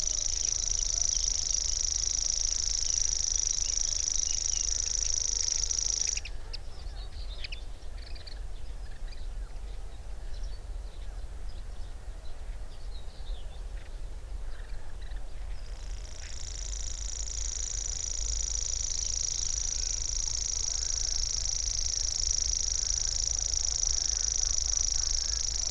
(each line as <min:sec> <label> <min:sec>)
0:00.0 grasshopper warbler 0:06.3
0:15.1 grasshopper warbler 0:25.7